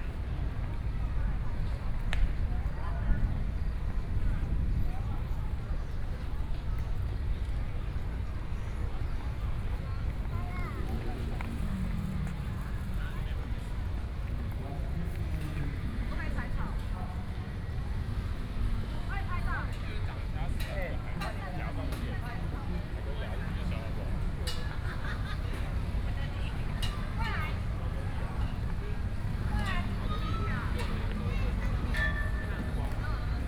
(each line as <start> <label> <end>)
0.0 Traffic Sound 33.4